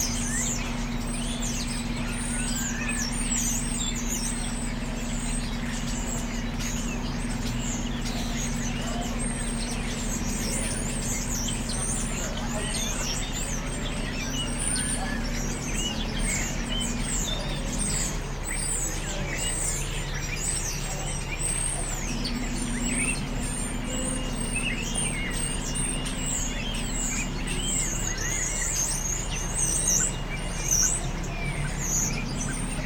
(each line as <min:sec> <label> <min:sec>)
0:00.0 Roosting Starlings 0:32.8
0:00.0 buses that run past the church yard 0:32.8
0:00.0 pedestrians walking on the paths 0:32.8